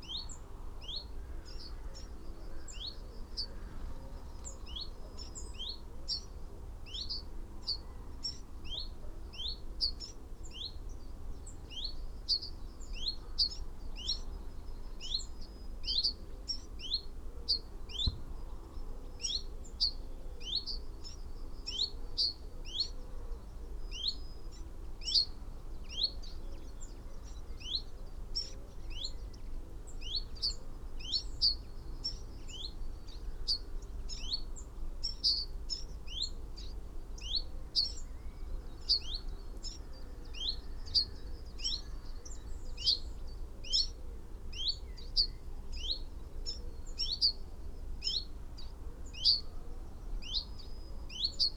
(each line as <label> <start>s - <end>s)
pheasant 0.0s - 51.5s
blackbird 6.9s - 51.5s
blue tit 30.0s - 47.4s